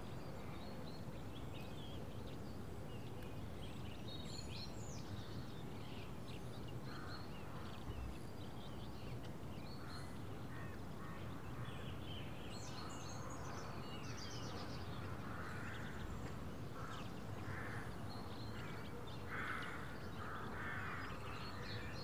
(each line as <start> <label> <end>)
0.0 Morning birdsong 22.0
18.6 crows 21.5